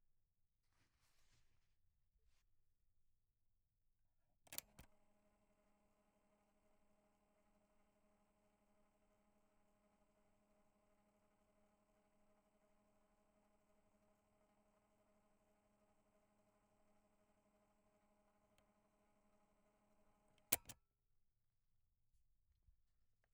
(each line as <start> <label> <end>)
4.5 Pressing play on a cassette tape 4.9
20.4 Pressing play on a cassette tape 20.8